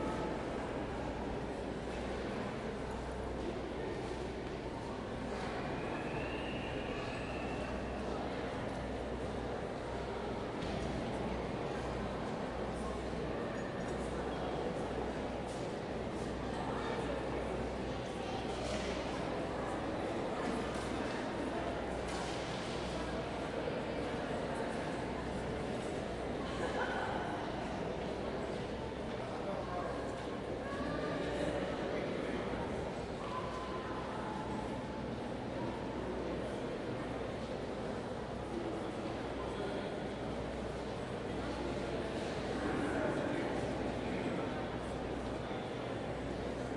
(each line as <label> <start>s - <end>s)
crowd 0.0s - 46.7s